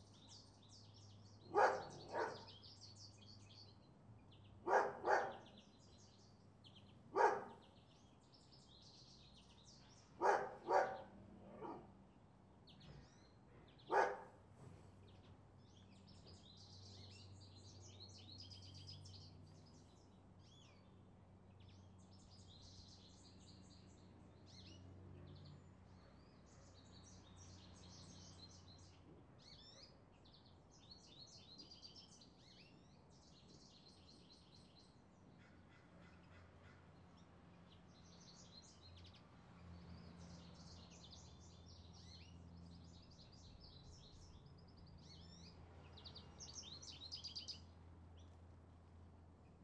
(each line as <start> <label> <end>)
0.0 birds 49.6
1.5 barking dog 2.5
4.6 barking dog 5.5
7.1 barking dog 7.6
10.2 barking dog 11.9
13.9 barking dog 14.4